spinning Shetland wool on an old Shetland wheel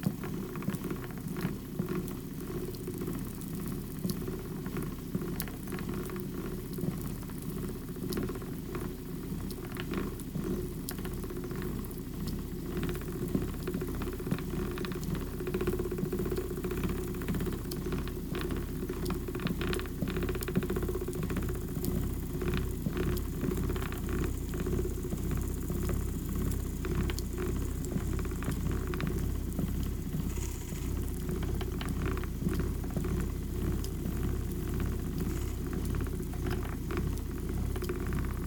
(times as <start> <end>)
12.6 38.4